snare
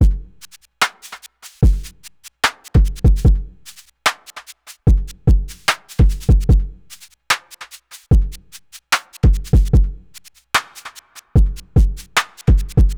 0:00.4 0:01.6, 0:02.4 0:04.8, 0:05.5 0:08.1, 0:08.8 0:11.3, 0:11.9 0:12.9

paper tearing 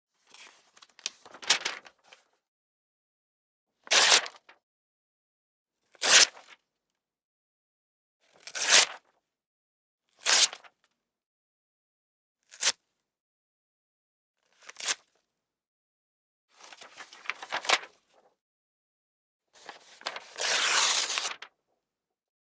0:20.4 0:21.4

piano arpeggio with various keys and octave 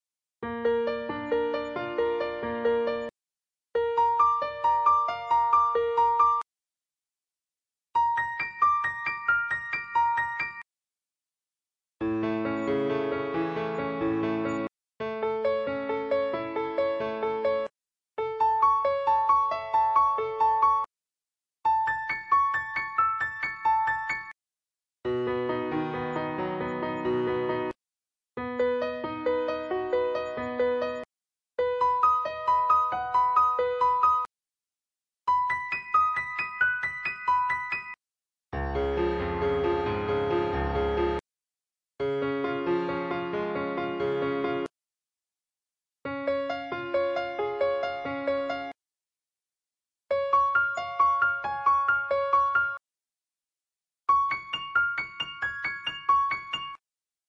0:00.4 0:03.1, 0:03.8 0:06.4, 0:08.0 0:10.7, 0:12.0 0:20.9, 0:21.7 0:24.3, 0:25.1 0:27.8, 0:28.4 0:34.3, 0:35.3 0:38.0, 0:38.6 0:41.2, 0:42.0 0:44.7, 0:46.0 0:48.8, 0:50.1 0:52.8, 0:54.1 0:56.8

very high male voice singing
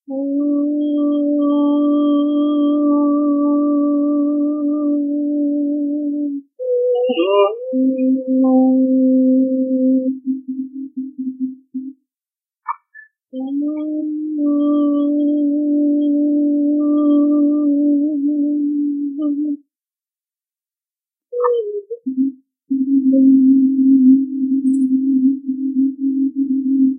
0:00.1 0:11.9, 0:13.4 0:19.6

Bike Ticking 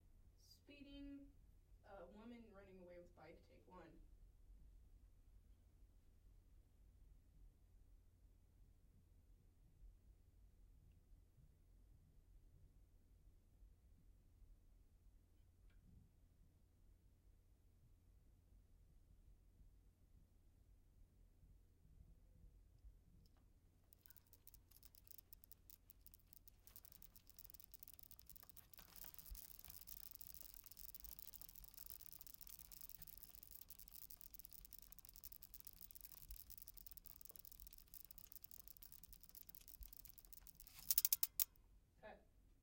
0:24.0 0:41.5

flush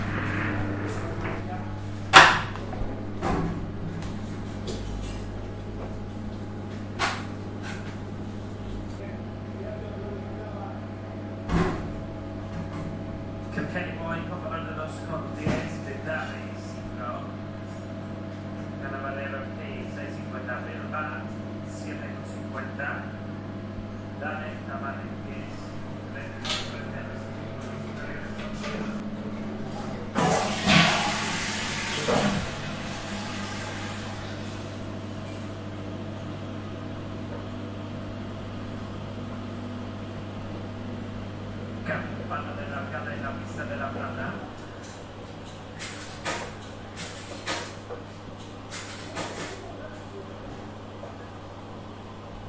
0:30.2 0:34.8

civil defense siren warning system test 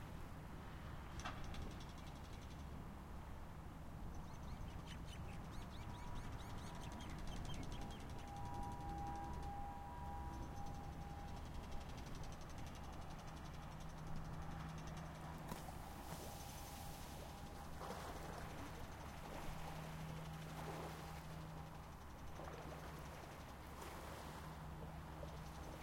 0:05.9 0:25.8

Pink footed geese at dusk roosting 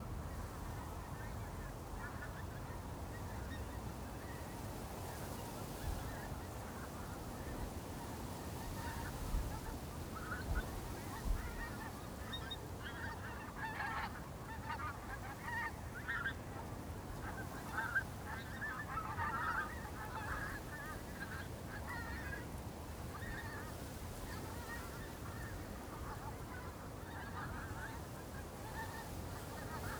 0:08.6 0:29.9

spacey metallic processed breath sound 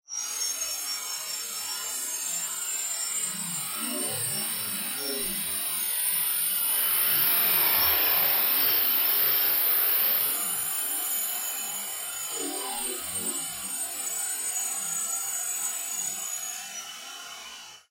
0:05.2 0:10.7

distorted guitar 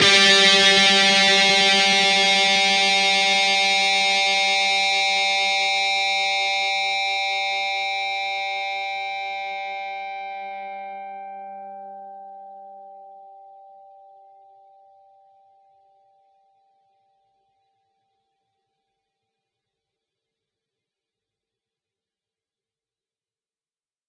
0:00.0 0:12.0

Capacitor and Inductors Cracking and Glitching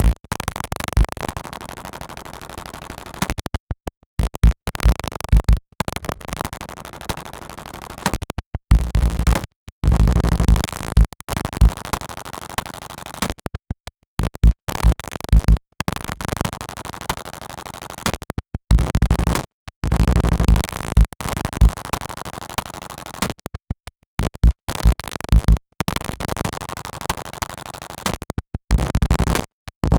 0:24.4 0:26.4

